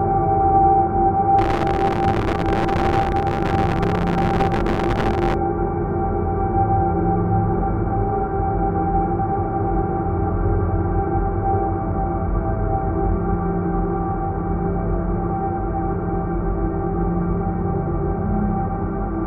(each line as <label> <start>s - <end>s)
heavily reverberated distortion 1.4s - 5.4s
slowly evolving dreamy ambient drone pad 1.4s - 5.4s